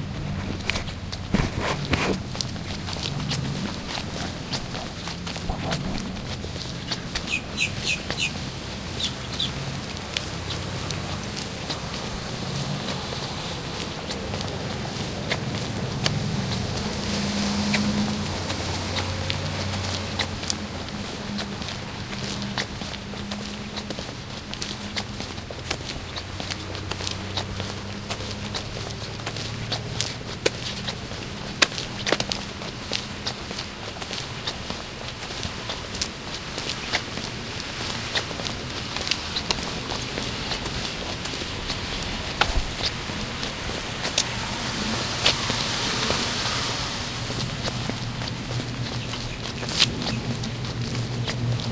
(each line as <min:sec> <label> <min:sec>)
0:00.0 Walking 0:51.7